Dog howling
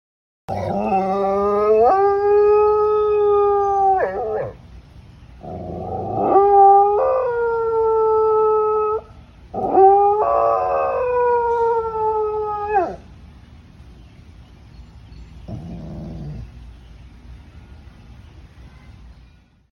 0:00.5 0:04.6, 0:05.4 0:13.0

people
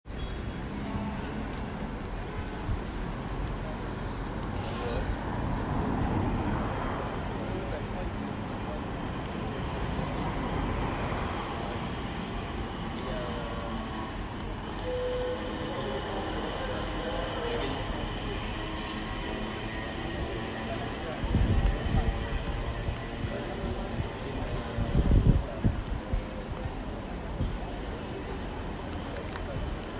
0:06.6 0:29.9

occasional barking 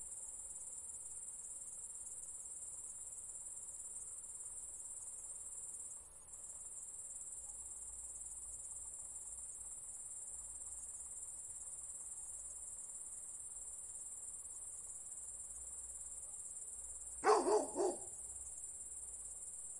0:17.2 0:18.2

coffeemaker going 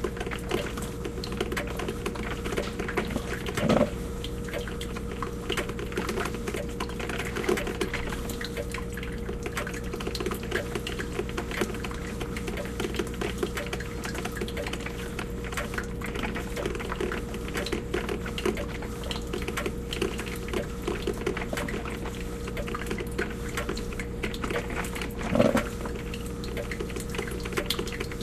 0:02.6 0:04.0, 0:24.3 0:26.1

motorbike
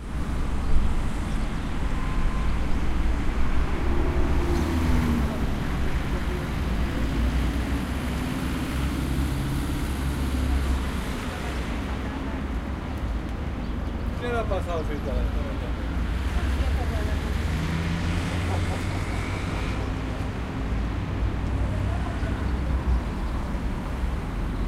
0:16.0 0:24.6

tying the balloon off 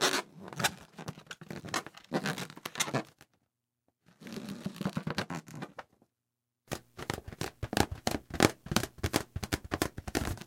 0:06.7 0:10.4

